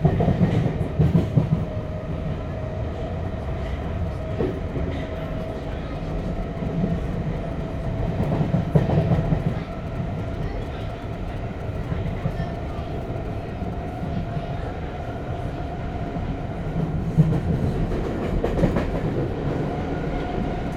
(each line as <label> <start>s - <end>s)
subway ride 0.0s - 20.7s